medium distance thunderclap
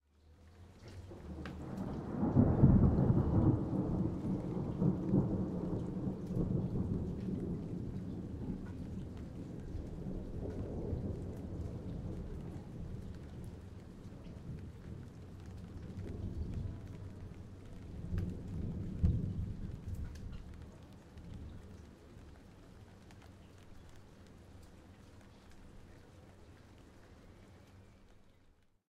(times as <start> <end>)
1.0 21.8